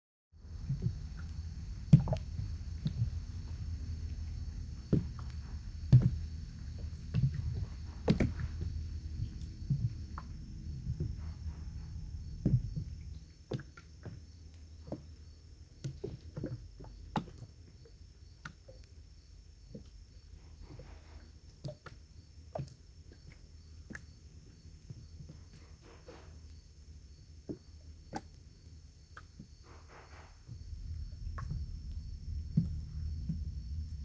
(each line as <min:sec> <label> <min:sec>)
0:00.4 River making a bloop noise 0:13.0